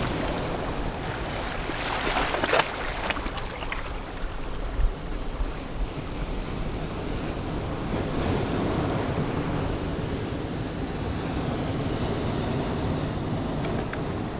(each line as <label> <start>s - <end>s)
waves 0.0s - 14.3s